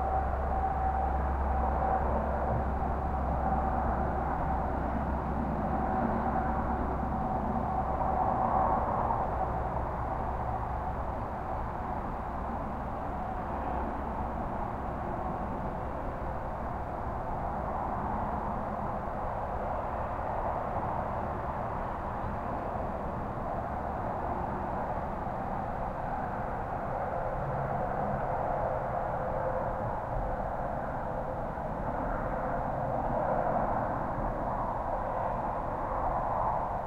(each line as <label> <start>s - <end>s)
freight train pass by with horn toots 0.0s - 16.8s
distant highway far haze 0.0s - 36.8s